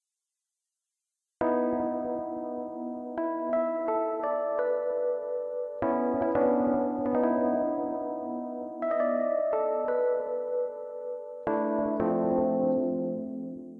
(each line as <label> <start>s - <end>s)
rhodes keyboard 1.4s - 13.7s